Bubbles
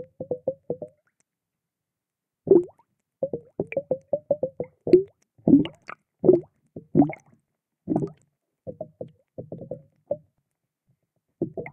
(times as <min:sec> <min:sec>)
0:02.5 0:07.3, 0:07.9 0:09.9, 0:11.4 0:11.7